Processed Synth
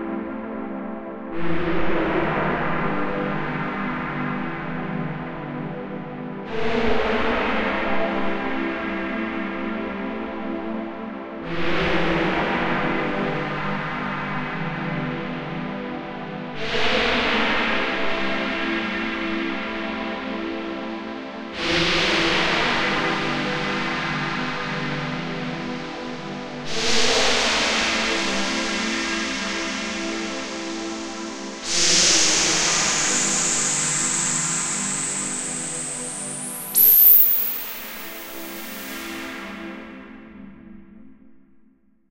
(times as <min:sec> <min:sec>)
0:34.1 0:39.3